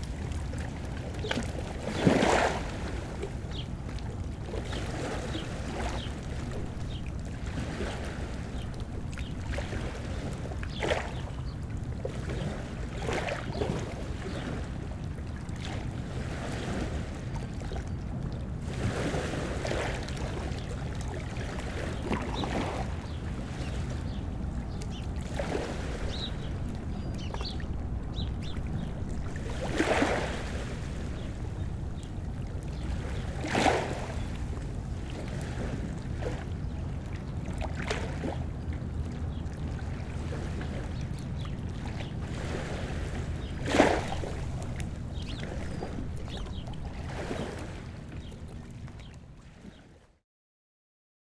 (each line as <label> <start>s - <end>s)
water 0.0s - 50.2s
birds 4.5s - 7.2s
birds 20.1s - 34.6s
birds 36.3s - 49.9s